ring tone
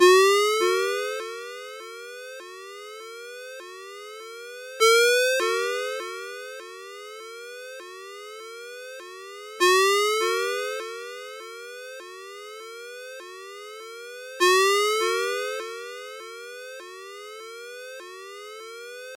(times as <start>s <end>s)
4.8s 8.2s